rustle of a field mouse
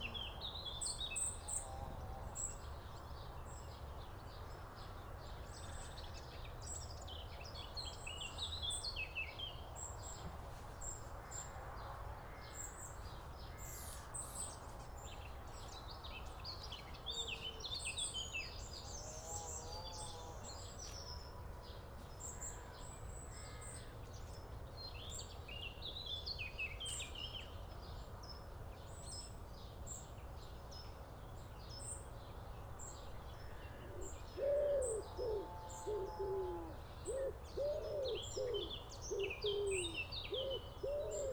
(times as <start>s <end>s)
10.1s 11.6s, 12.7s 18.0s